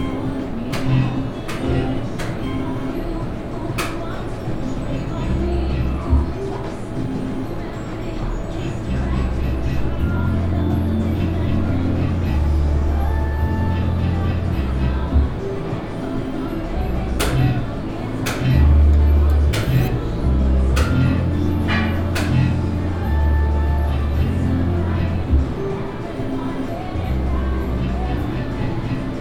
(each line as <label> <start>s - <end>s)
gambling machines 0.0s - 29.2s
music ambience 0.0s - 29.2s